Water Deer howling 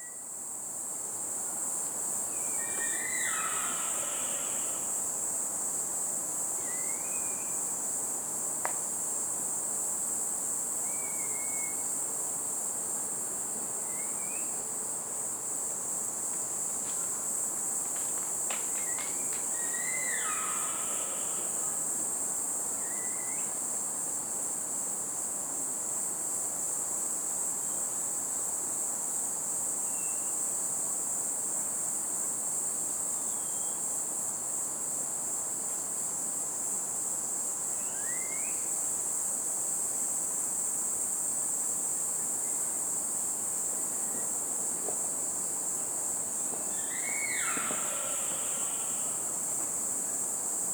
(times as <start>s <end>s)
2.6s 4.9s, 19.5s 21.8s, 46.7s 49.5s